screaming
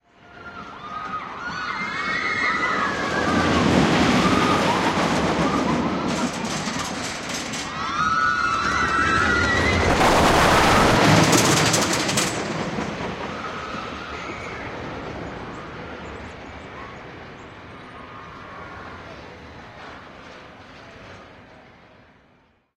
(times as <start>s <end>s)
0.3s 6.3s, 7.7s 10.0s, 13.3s 14.8s